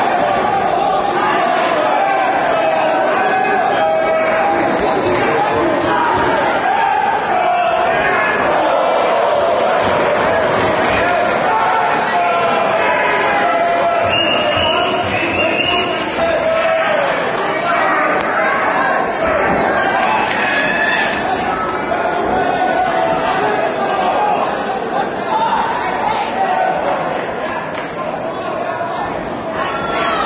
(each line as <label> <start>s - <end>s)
Yelling 0.0s - 27.0s
Crowd noise 0.0s - 30.2s
clapping 27.2s - 27.9s